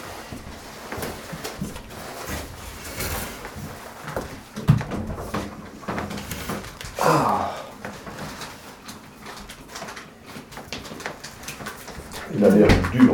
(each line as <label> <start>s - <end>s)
eating their lunch 6.0s - 13.1s